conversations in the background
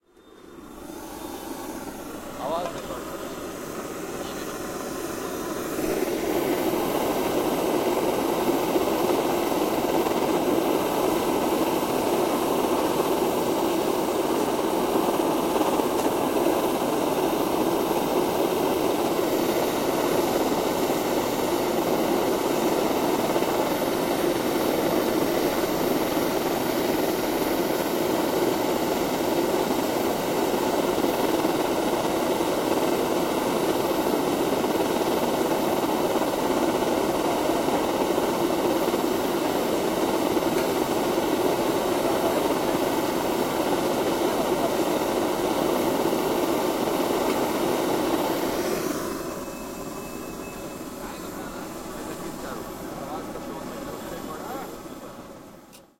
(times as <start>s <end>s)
50.4s 55.6s